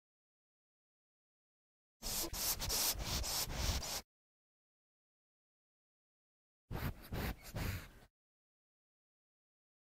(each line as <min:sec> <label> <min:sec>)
0:02.0 Cats sniffing 0:04.0
0:06.7 Cats sniffing 0:08.1